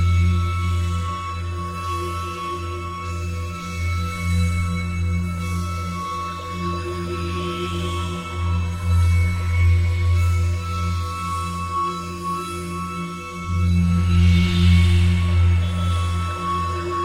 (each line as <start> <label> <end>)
0.0 F Lydian drone 17.0